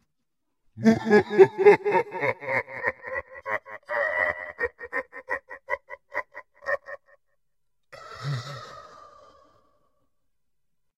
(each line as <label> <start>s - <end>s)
low male laugh 0.8s - 7.2s